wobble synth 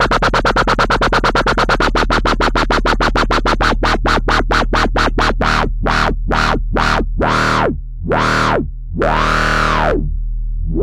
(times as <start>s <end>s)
3.2s 10.1s